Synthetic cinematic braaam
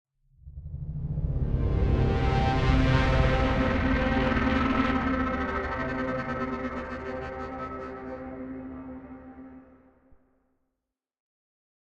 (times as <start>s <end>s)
1.4s 9.7s